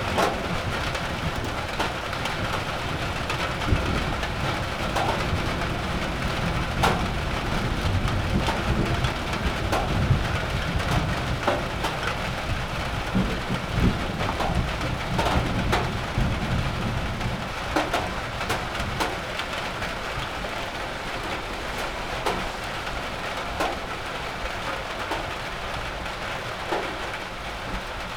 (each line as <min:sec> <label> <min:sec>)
0:00.0 rain drops on a metal roofing 0:28.1